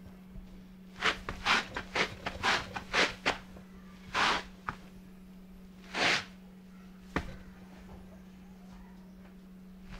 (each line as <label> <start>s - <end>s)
wipe feet on doormat 1.0s - 3.4s
wipe feet on doormat 4.0s - 4.8s
wipe feet on doormat 5.8s - 6.4s